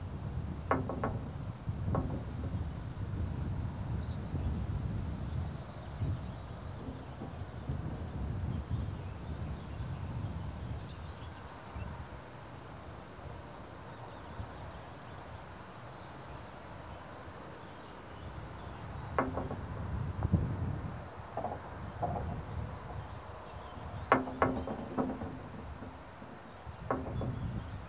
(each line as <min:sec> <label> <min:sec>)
0:00.3 slabs are loose, knocking about in their fastenings 0:03.2
0:06.6 slabs are loose, knocking about in their fastenings 0:08.1
0:19.0 slabs are loose, knocking about in their fastenings 0:27.8